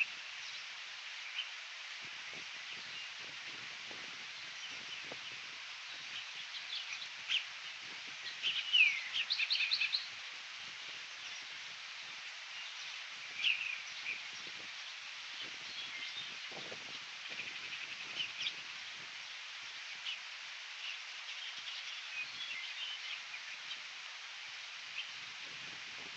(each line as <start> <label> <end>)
0.0 Birds 26.1